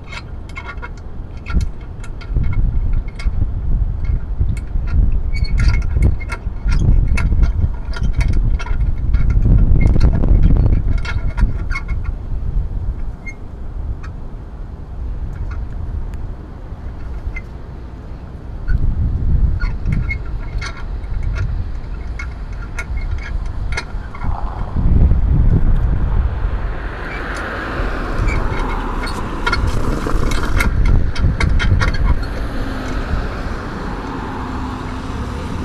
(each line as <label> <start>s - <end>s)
cars passing by on the cobblestone crosswalk 0.0s - 35.6s
clanking metallic noises 19.6s - 35.6s